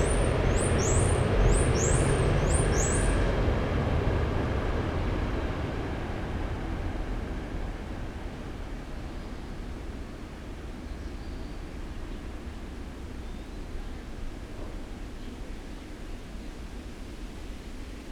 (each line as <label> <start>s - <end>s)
passing-by freight train 0.0s - 10.9s